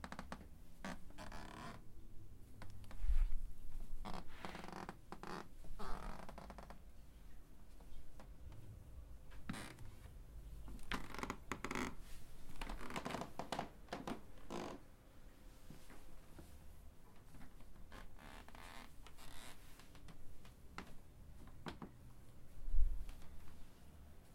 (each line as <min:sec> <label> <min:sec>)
0:00.0 Walking on a wooden creaky floor 0:01.8
0:04.0 Walking on a wooden creaky floor 0:06.8
0:09.3 Walking on a wooden creaky floor 0:09.9
0:10.7 Walking on a wooden creaky floor 0:12.0
0:12.6 Walking on a wooden creaky floor 0:14.8
0:17.4 Walking on a wooden creaky floor 0:22.0